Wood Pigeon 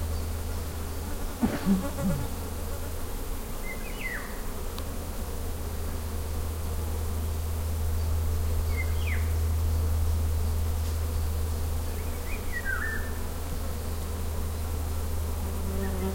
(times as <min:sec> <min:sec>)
0:01.3 0:02.4